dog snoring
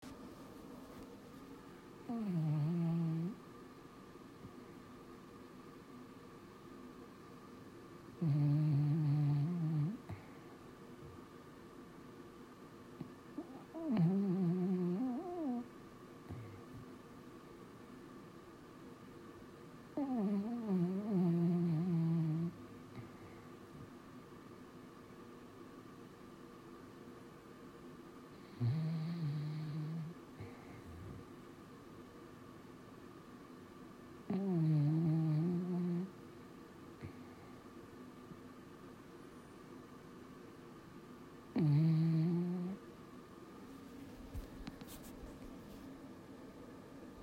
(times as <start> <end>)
2.0 3.4, 8.2 10.3, 13.4 15.7, 20.0 23.2, 28.3 31.2, 34.3 36.2, 41.5 42.8